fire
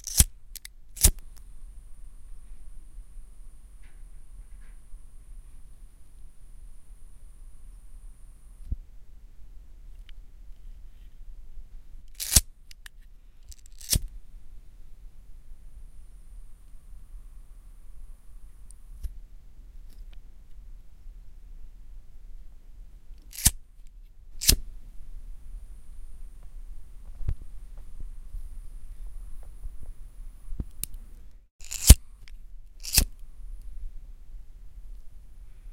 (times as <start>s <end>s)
0.0s 8.8s, 23.0s 23.6s, 24.3s 33.9s